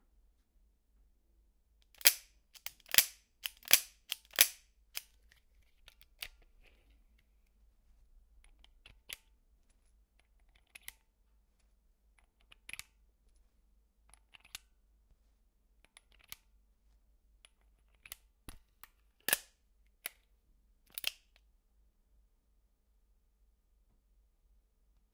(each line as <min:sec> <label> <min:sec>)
0:02.0 Revolver Reload 0:05.1